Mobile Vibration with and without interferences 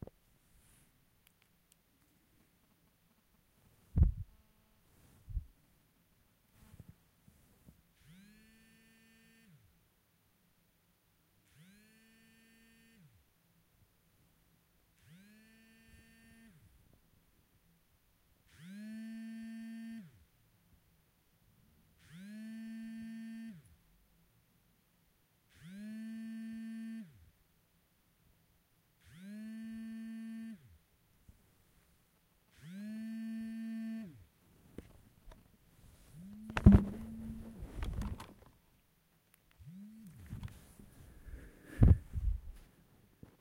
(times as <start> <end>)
2.6 5.6, 6.5 9.7, 11.4 13.2, 15.0 16.9, 18.5 20.2, 22.0 23.8, 29.0 30.7, 32.5 38.6, 39.5 43.4